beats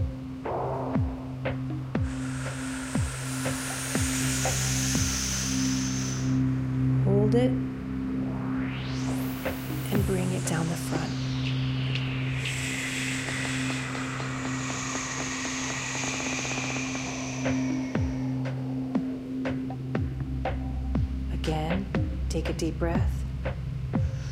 0.0s 5.2s

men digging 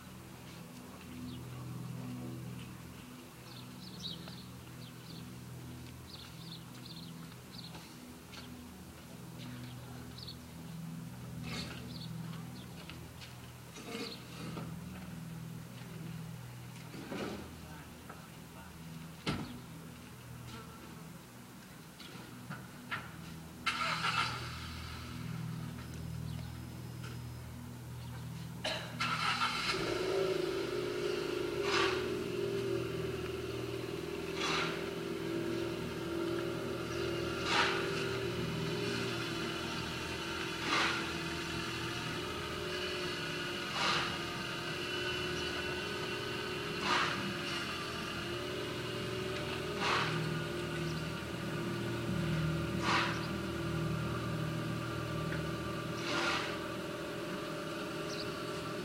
28.6s 58.8s

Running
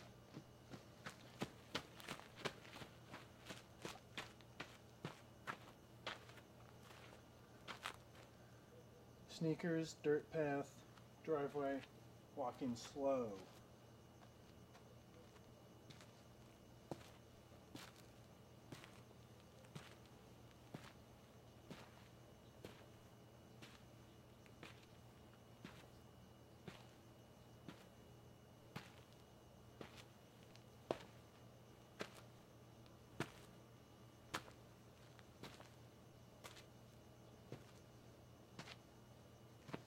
0.0s 7.9s

